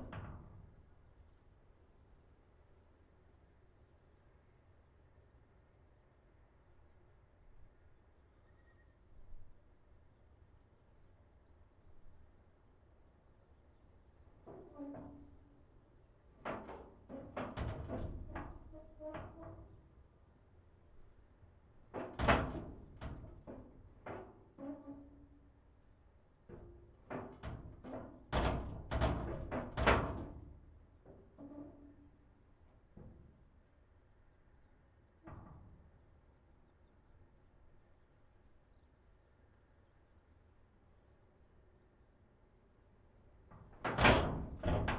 wind hits iron door 0:26.5 - 0:32.0
wind hits iron door 0:43.5 - 0:44.9

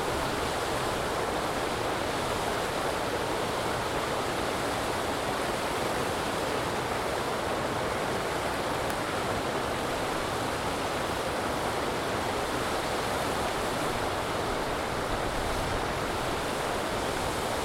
Concrete man-made waterfalls 0:00.0 - 0:17.6

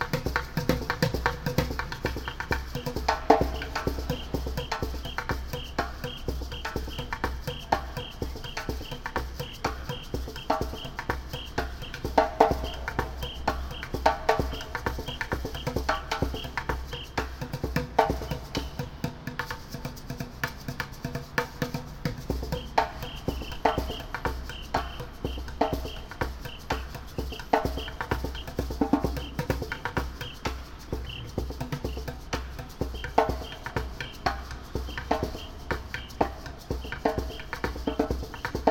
street performer playing percussion 0:00.0 - 0:38.7

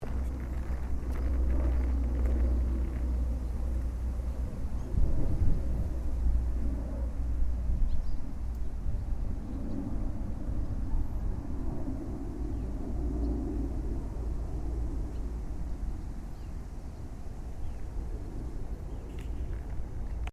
birds 0:00.0 - 0:05.1
flying jet 0:00.0 - 0:20.3
birds 0:12.2 - 0:20.3

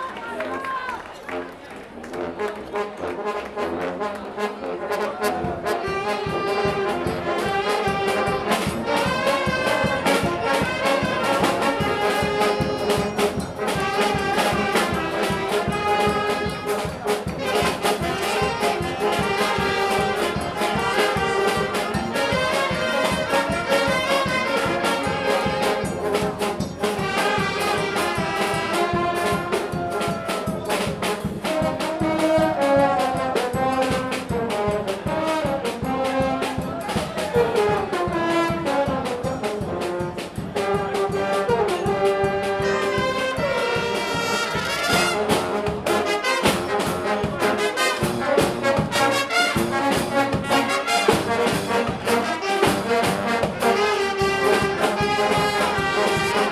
Fanfare 0:00.0 - 0:56.5

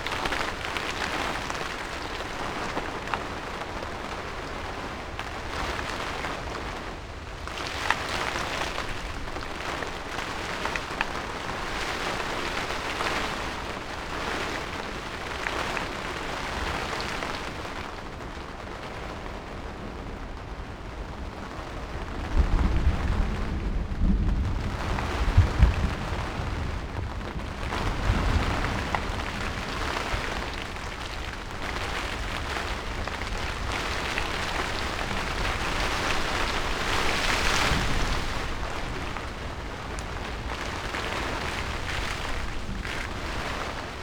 thunderstorm 0:18.6 - 0:44.0

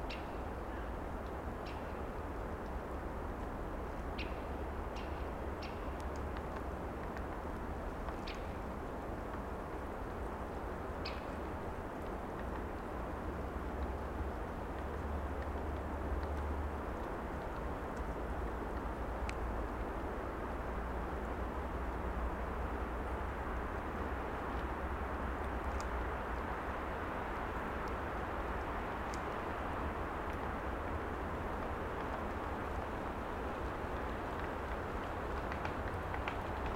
Wind in trees 0:00.0 - 0:36.7
woodpecker 0:08.0 - 0:08.6

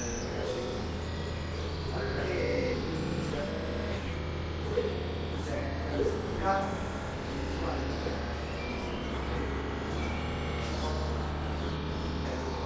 swallows flying around 0:00.0 - 0:12.6

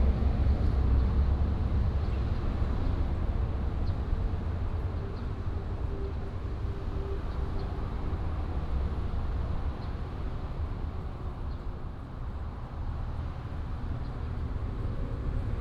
Traffic sound 0:00.0 - 0:15.6

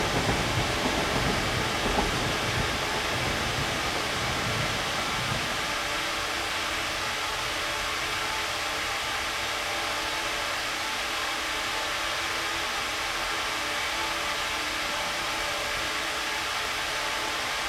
train 0:00.0 - 0:17.6

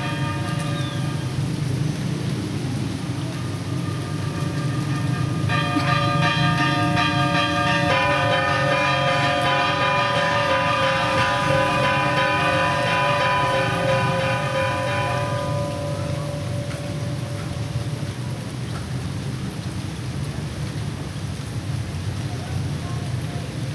bells of a Church 0:00.0 - 0:18.7

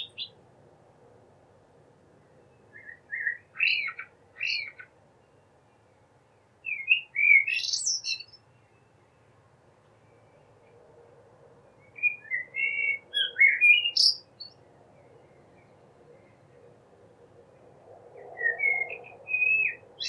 blackbird 0:00.0 - 0:00.4
blackbird 0:02.7 - 0:04.9
blackbird 0:06.6 - 0:08.9
blackbird 0:11.8 - 0:16.6
blackbird 0:18.4 - 0:20.0

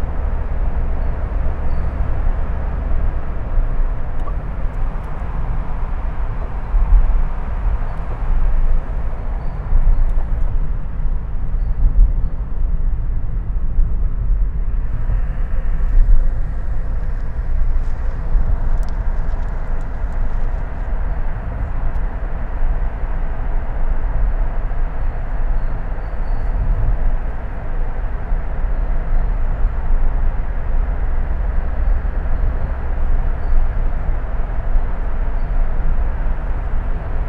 drive through the Sydney Harbour Tunnel 0:00.0 - 0:37.2

